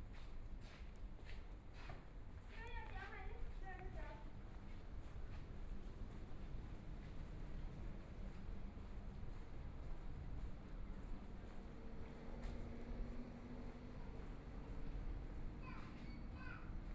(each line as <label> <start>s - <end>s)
Walking through the streets 0.0s - 16.9s